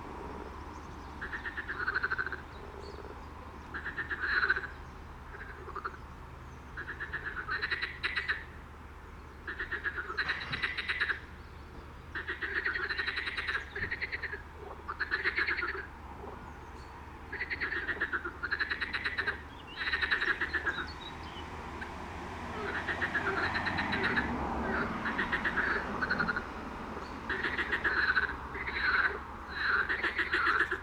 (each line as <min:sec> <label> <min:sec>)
0:00.0 frogs 0:06.1
0:06.7 frogs 0:08.6
0:09.4 frogs 0:11.3
0:12.1 frogs 0:30.8